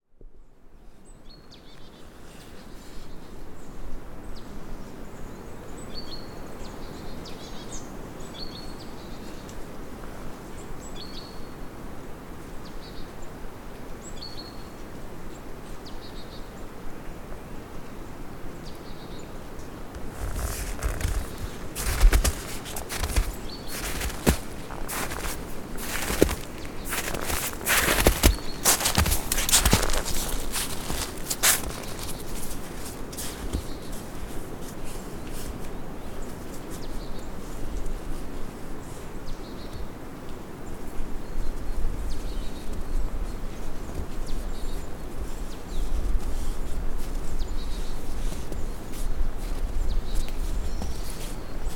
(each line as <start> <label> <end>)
19.9 footsteps in the snow 39.1
20.1 birds singing 32.4
41.5 footsteps in the snow 51.7